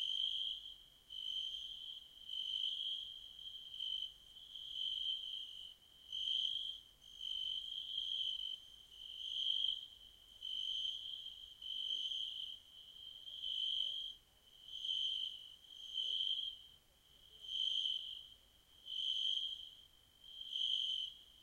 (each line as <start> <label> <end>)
0.0 nature sound 21.4